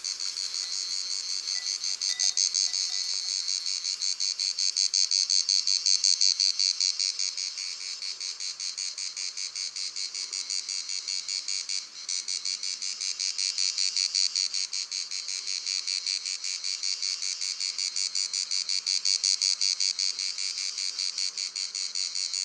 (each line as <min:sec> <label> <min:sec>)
0:00.0 crickets 0:22.4
0:00.1 bells of two cows 0:03.8